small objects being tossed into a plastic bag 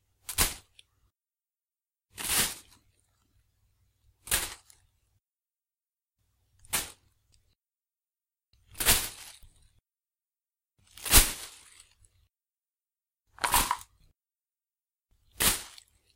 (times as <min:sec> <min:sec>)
0:08.7 0:09.6, 0:13.4 0:14.0